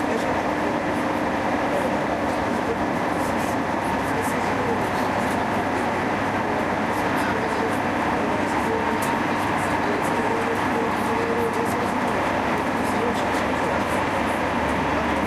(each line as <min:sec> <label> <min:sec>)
0:00.0 train trip 0:15.2